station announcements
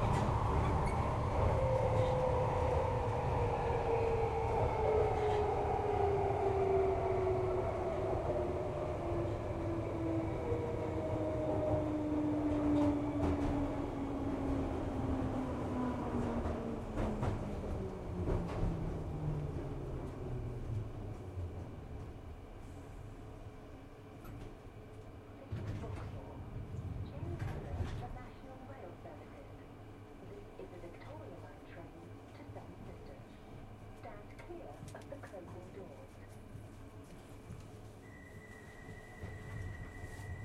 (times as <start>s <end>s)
27.0s 33.4s, 34.0s 36.4s